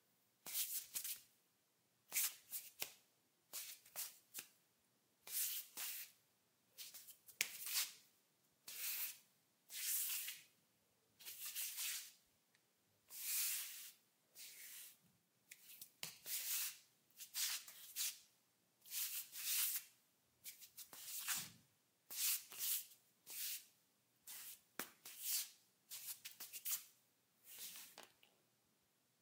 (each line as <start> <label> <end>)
13.1 Barefoot scuffing on tile 18.2
20.5 Barefoot scuffing on tile 23.7
24.3 Barefoot scuffing on tile 28.2